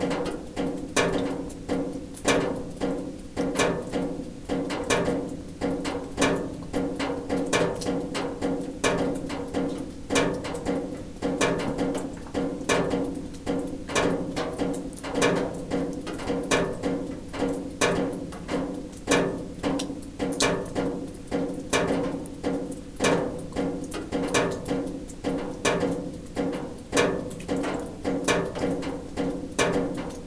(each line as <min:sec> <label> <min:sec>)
0:00.0 agressive drops falling on a sheet metal 0:30.2